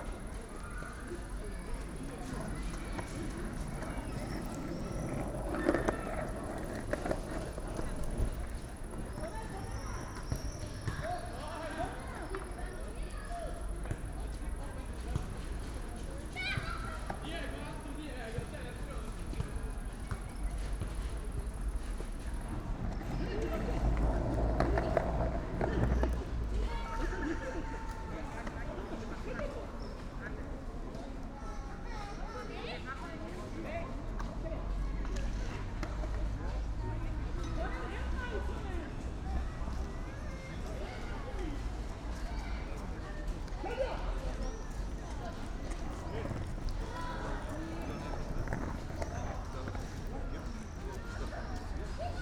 bikes passing by 0.0 - 52.2
youngsters playing streetball 0.0 - 52.2
cricket 0.0 - 27.4
girl practising skateboard 1.2 - 10.3
girl practising skateboard 20.4 - 27.3
girl practising skateboard 45.4 - 51.8

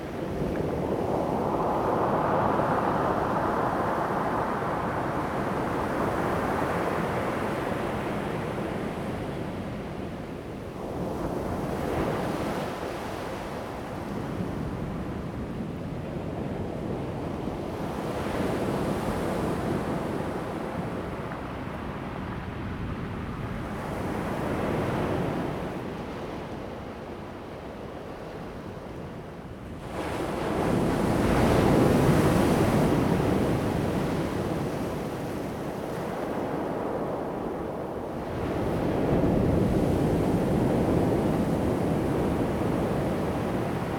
waves 0.0 - 14.1
waves 17.1 - 43.9

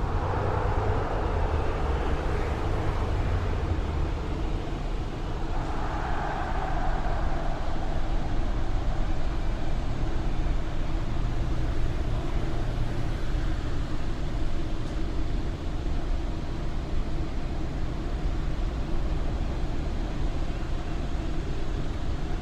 blast furnace plant 0.0 - 22.4
noise of the crowd at a soccer match 0.0 - 22.4

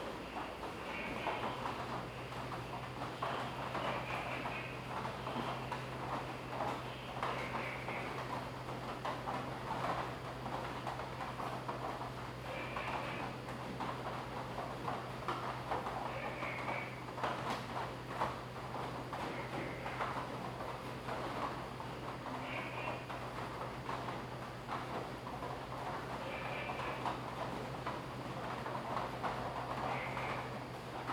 rain 0.1 - 31.1

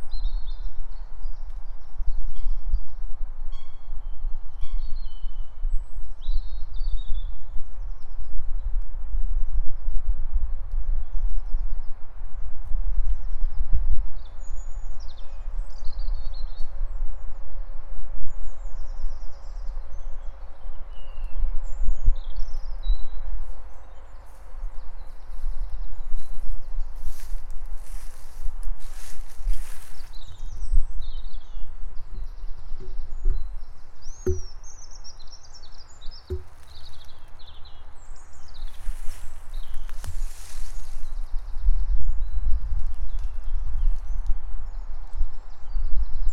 Birds 10.8 - 46.3

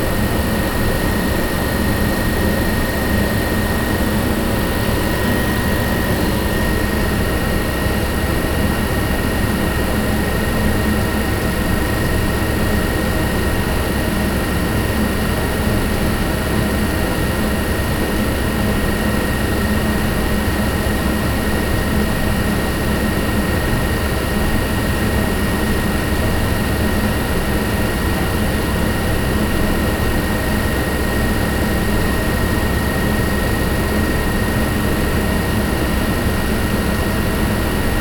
ventilation and heating system 0.0 - 13.8

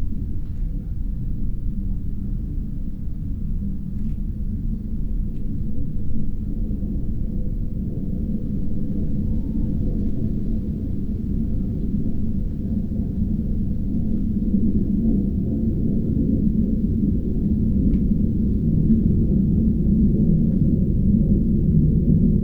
jet plane 0.0 - 22.4

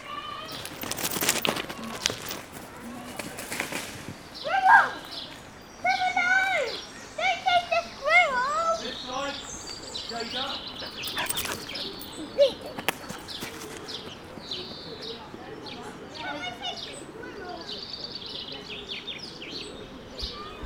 bird song 4.1 - 20.6

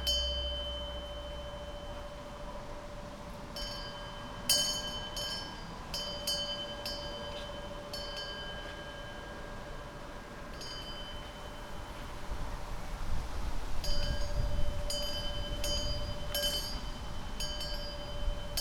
small bell/wind chime ringing 0.0 - 12.1
small bell/wind chime ringing 13.8 - 18.6

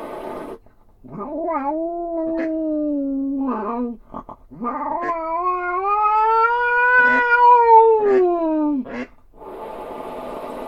Catfight 1.0 - 9.1

